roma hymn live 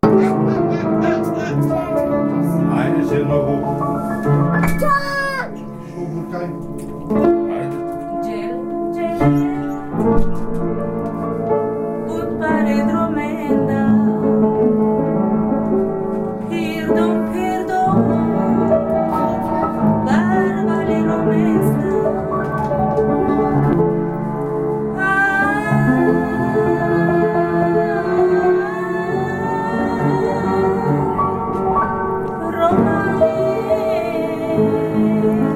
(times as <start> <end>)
12.0 15.1, 16.4 23.8, 24.9 35.5